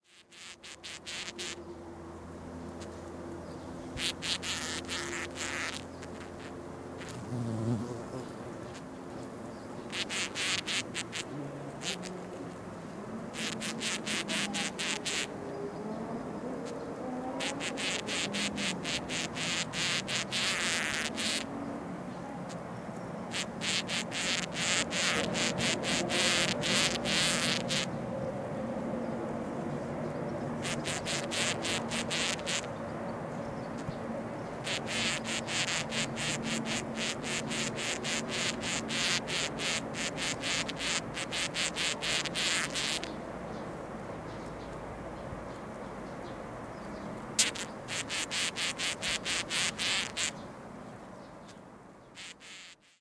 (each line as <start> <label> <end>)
0.0 Ant queen digging a nest 1.6
4.0 Ant queen digging a nest 7.9
9.9 Ant queen digging a nest 12.1
13.4 Ant queen digging a nest 15.3
17.4 Ant queen digging a nest 21.5
23.3 Ant queen digging a nest 27.9
30.6 Ant queen digging a nest 32.7
34.7 Ant queen digging a nest 43.1
47.4 Ant queen digging a nest 50.4
52.2 Ant queen digging a nest 52.9